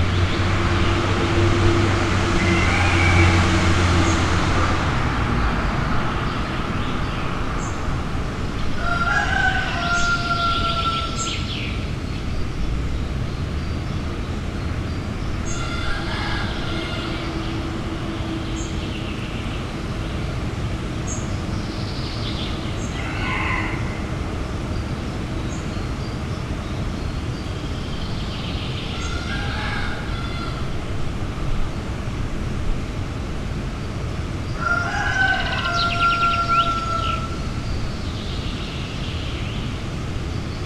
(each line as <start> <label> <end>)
1.1 poultry farm 3.9
2.4 rooster 3.4
8.7 poultry farm 11.7
8.8 rooster 11.4
15.4 poultry farm 19.5
15.5 rooster 17.8
22.8 rooster 24.1
22.8 poultry farm 24.2
28.9 poultry farm 30.8
28.9 rooster 30.8
34.6 poultry farm 37.4
34.6 rooster 37.4